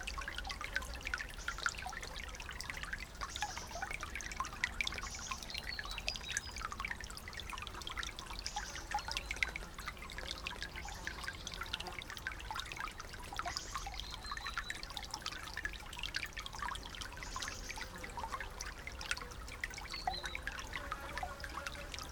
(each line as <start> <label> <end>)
0.0 tinkling water sounds 22.1